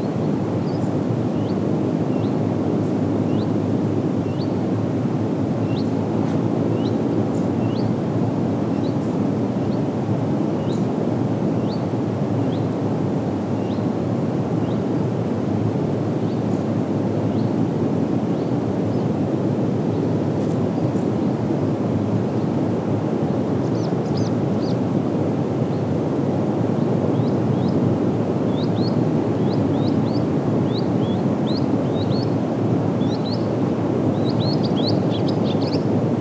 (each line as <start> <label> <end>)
19.5 Wind sounds 36.2
34.1 birds chirping 36.2